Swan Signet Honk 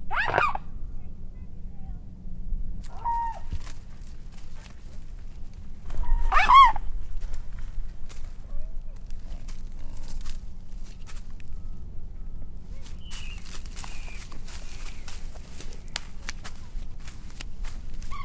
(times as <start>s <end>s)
0.0s 0.7s, 2.8s 3.8s, 5.9s 7.0s, 18.0s 18.2s